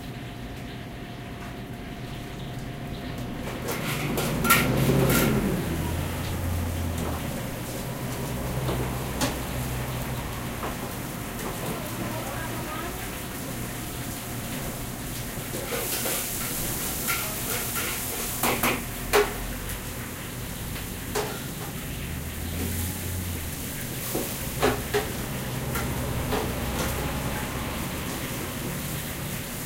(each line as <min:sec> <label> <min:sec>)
0:03.5 loud pans sounds 0:05.9
0:03.5 cars 0:11.7
0:18.4 cars 0:29.6